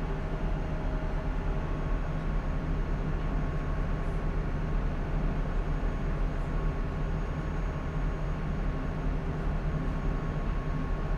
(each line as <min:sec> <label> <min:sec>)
0:00.0 Ferry 0:11.1